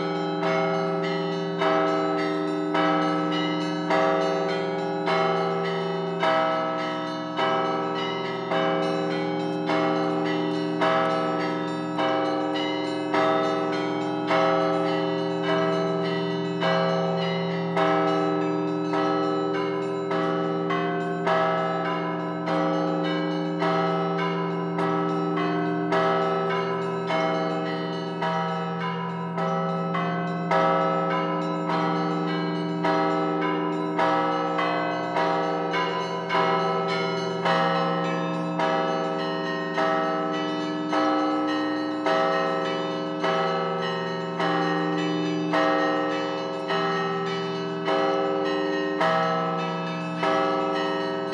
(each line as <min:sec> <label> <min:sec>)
0:00.0 Bell concert 0:51.3